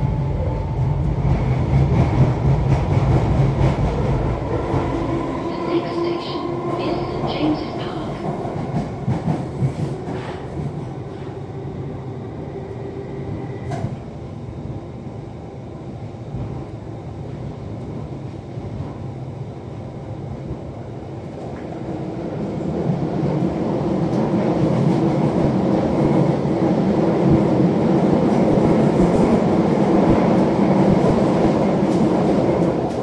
train action 0.0 - 11.7
announcements 5.4 - 8.3
train action 21.3 - 33.0

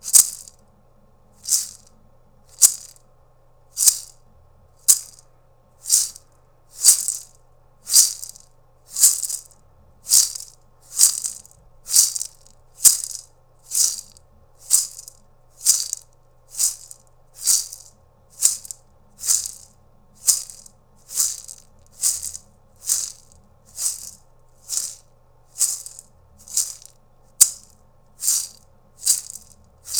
Maracas, Shake 0.0 - 0.6
Maracas, Shake 1.4 - 1.9
Maracas, Shake 2.5 - 3.0
Maracas, Shake 3.8 - 4.2
Maracas, Shake 4.8 - 5.2
Maracas, Shake 5.8 - 29.9

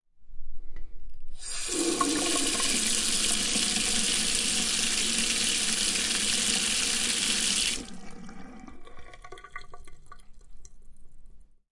sink water on off drain 1.4 - 10.8

